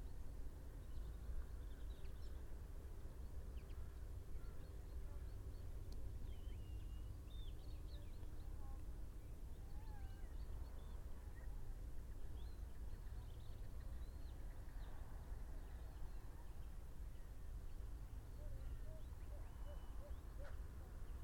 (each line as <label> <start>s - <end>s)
red-legged partridge 18.2s - 21.2s
hounds 19.3s - 20.7s